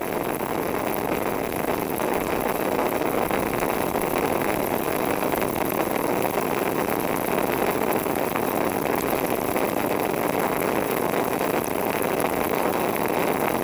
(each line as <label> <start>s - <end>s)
leakage in a biogas pipe 0.0s - 13.6s